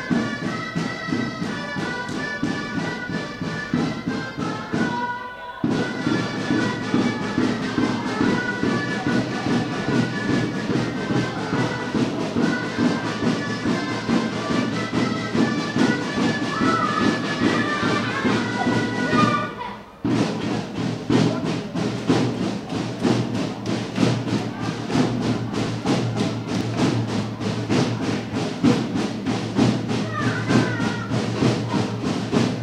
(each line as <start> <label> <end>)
0.0 several bands playing catalan folklore music 32.6